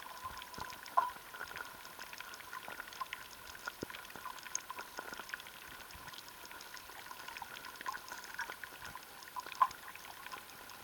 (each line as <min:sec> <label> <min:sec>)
0:00.0 pond underwater 0:10.8